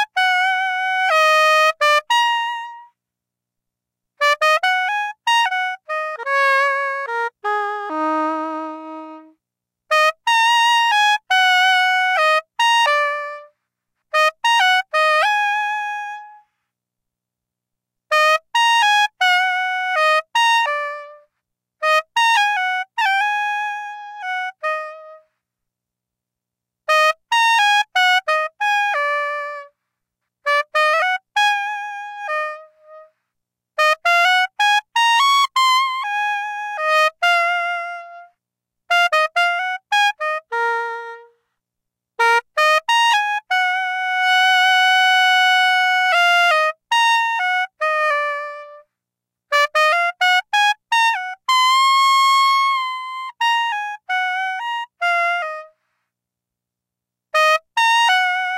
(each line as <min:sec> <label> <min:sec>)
0:04.2 saxophone emulation 0:13.5
0:18.1 saxophone emulation 0:25.4
0:26.9 saxophone emulation 0:29.8
0:30.4 saxophone emulation 0:33.2
0:33.8 saxophone emulation 0:41.5
0:42.2 saxophone emulation 0:48.9
0:49.5 saxophone emulation 0:55.9
0:57.4 saxophone emulation 0:58.5